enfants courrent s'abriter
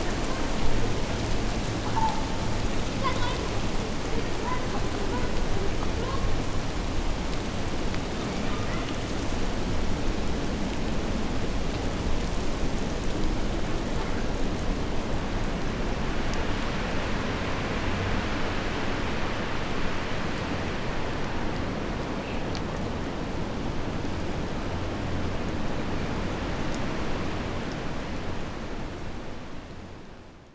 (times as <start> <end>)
1.8 6.5